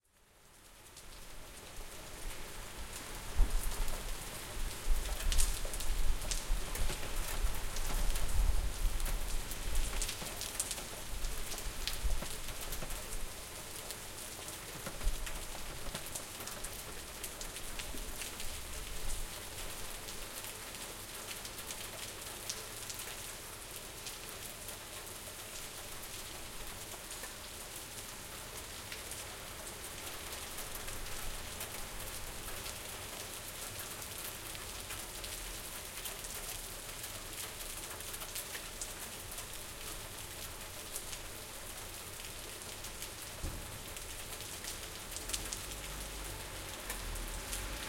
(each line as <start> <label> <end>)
0.0 Rain 47.8
0.2 subtle wind noises 47.8
45.2 cars, vans 47.8